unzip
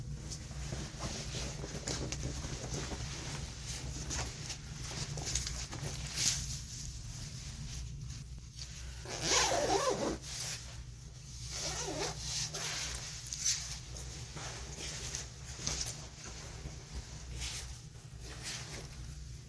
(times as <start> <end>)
8.6 10.8, 11.5 19.1